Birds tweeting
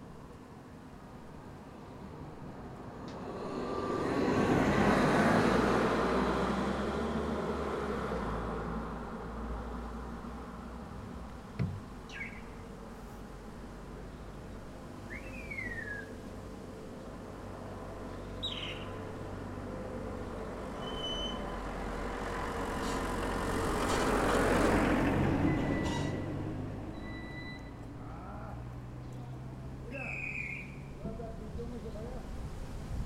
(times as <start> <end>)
11.9 12.8, 15.0 16.2, 18.0 19.1, 29.0 31.0